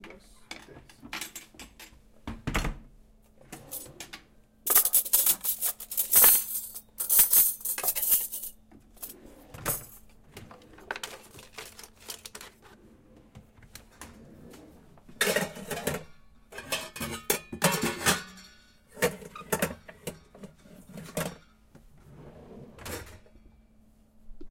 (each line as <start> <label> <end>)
3.4 someone movin cutlery 13.4
14.0 someone movin cutlery 23.4